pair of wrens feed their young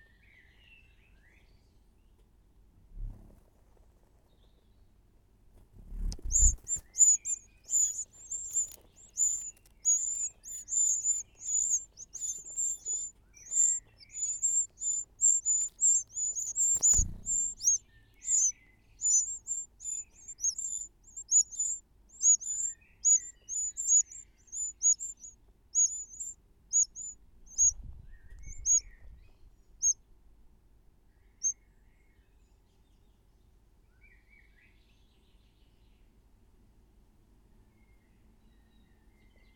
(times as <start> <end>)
6.0 27.8, 28.4 28.8